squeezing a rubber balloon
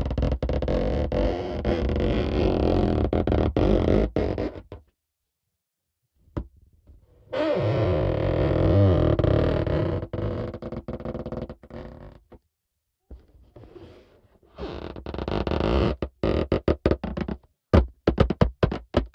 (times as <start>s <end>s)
0.0s 4.8s